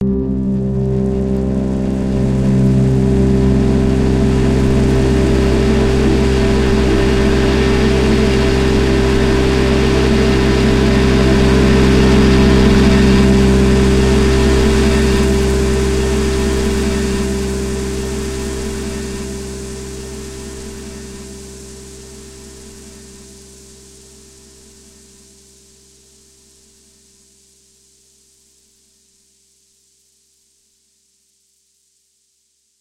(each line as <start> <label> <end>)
0.0 multisampled pad 25.8
0.2 rain 26.7